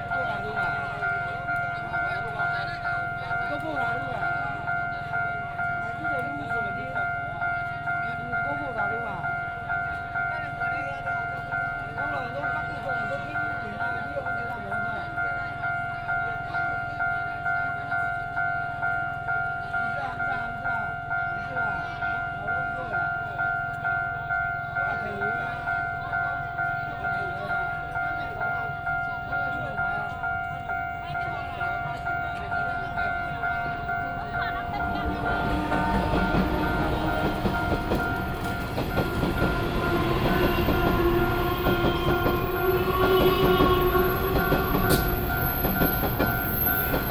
The train passes by 0.0 - 47.1
railway level crossing 0.0 - 47.1
Walking on the road 30.8 - 47.1

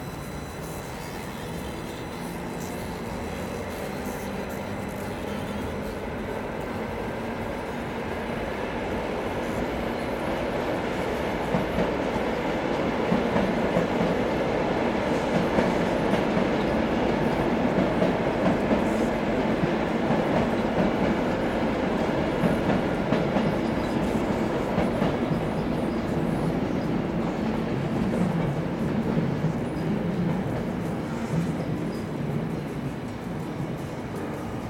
trains passing by 0.0 - 34.6
music 29.4 - 34.6

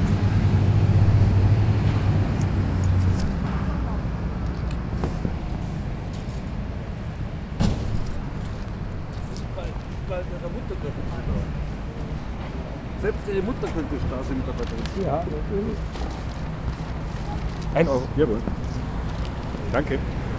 coins 4.4 - 4.9
coins 8.0 - 9.6

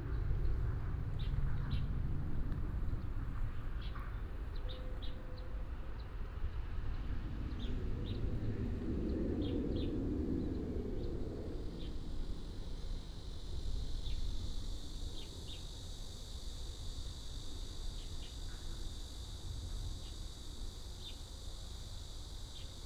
Cicada cry 11.8 - 22.8

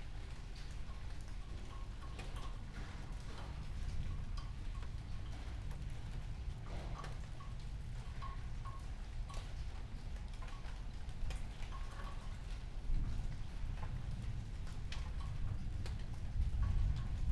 light rain 0.0 - 17.3

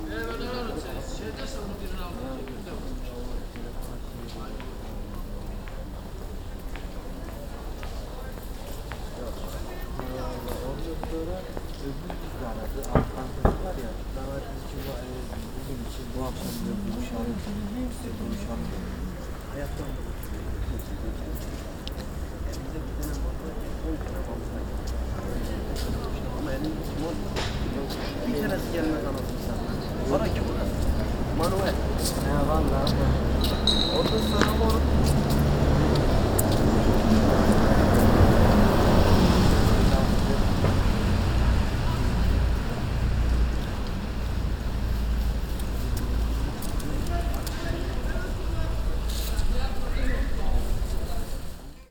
Der Bus 0.0 - 51.9

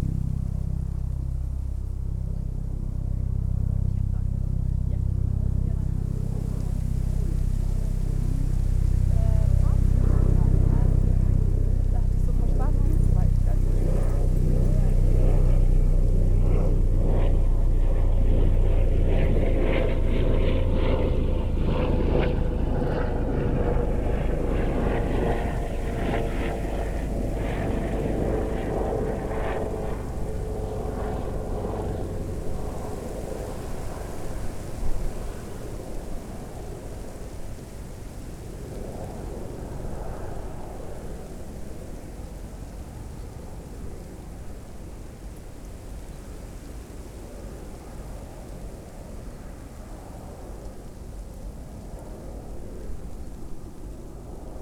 traffic hum 0.0 - 36.4
wind in the birch tree 0.0 - 54.6
helicopter 1.9 - 54.6

